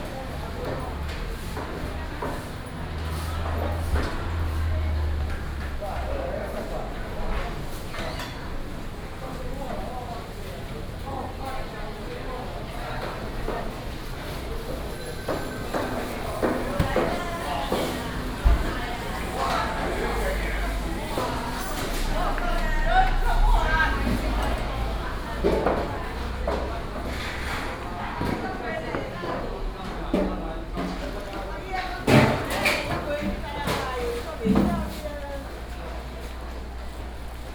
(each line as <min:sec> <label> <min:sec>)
0:00.0 walking in the Public retail market 0:37.5
0:00.0 traffic sound 0:09.2
0:12.8 traffic sound 0:32.4